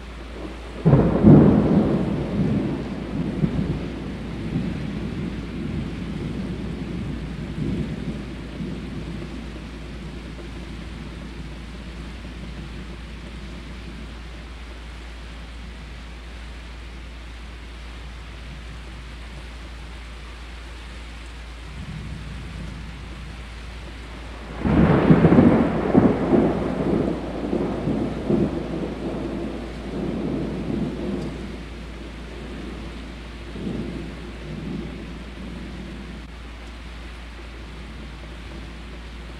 Thunderclaps from a violent thunderstorm 0:00.3 - 0:14.5
Thunderclaps from a violent thunderstorm 0:21.7 - 0:36.3

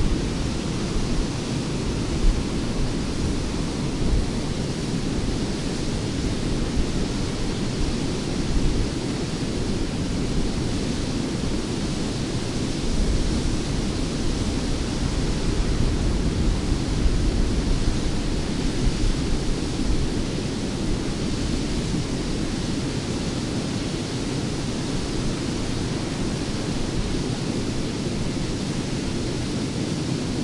waterfall falling into the see from high cliffs 0:00.0 - 0:30.4
wind 0:00.0 - 0:30.4

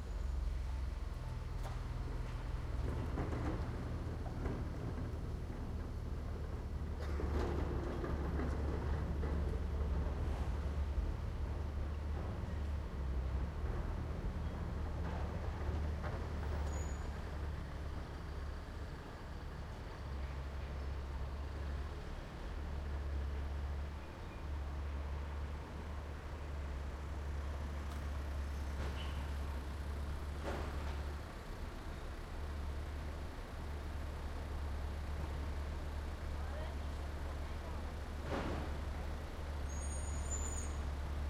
garbage truck 0:00.0 - 0:41.2

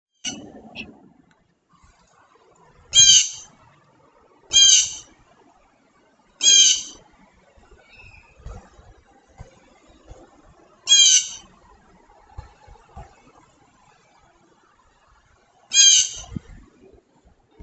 blue jay that was in the tree near me 0:02.9 - 0:03.5
blue jay that was in the tree near me 0:04.5 - 0:05.1
blue jay that was in the tree near me 0:06.4 - 0:07.0
blue jay that was in the tree near me 0:07.8 - 0:08.5
blue jay that was in the tree near me 0:10.9 - 0:11.5
blue jay that was in the tree near me 0:15.7 - 0:16.4

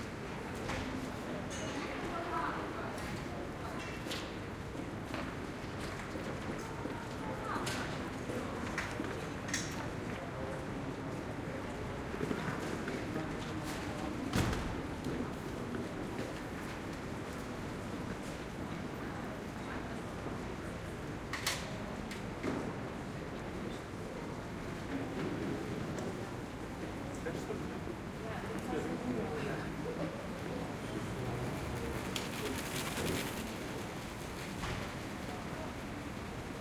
People passing by, talking 0:00.1 - 0:36.6
bicycles pass 0:30.4 - 0:36.4

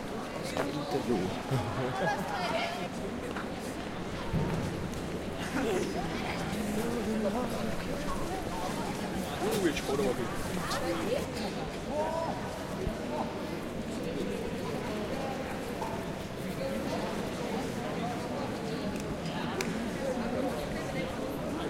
people chatting in several languages 0:00.0 - 0:21.6

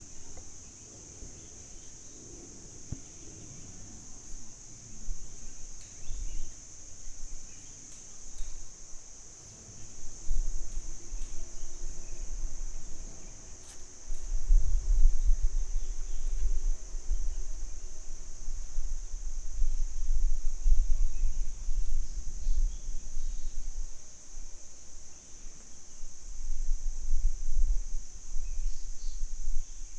insects 0:00.0 - 0:29.9
rustling leaves 0:00.0 - 0:29.9

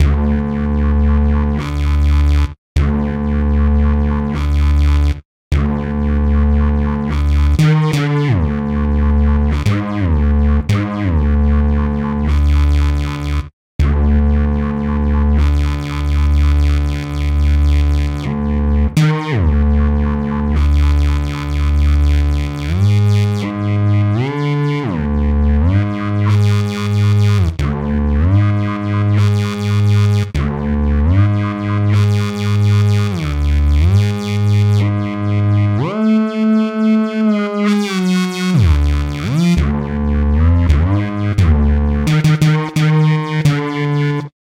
bend bass174 0:00.0 - 0:44.4
synthesizer 0:13.9 - 0:44.3

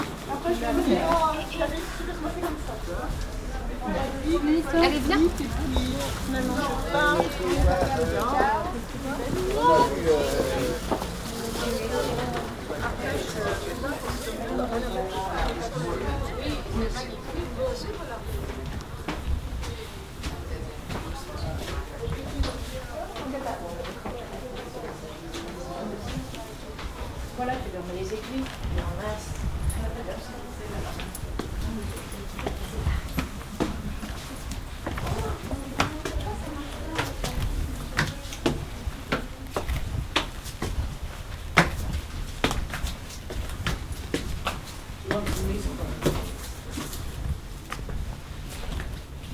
footsteps 0:00.0 - 0:16.7
voices 0:00.0 - 0:40.0
footsteps 0:17.4 - 0:49.3

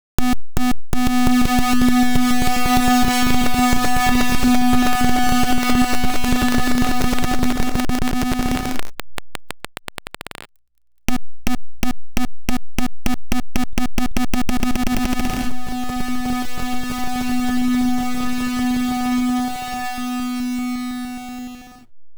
Optical Theremin 0:15.1 - 0:21.8

